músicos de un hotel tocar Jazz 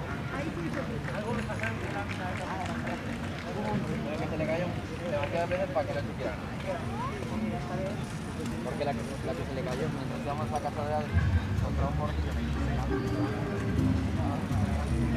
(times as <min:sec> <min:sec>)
0:09.6 0:15.1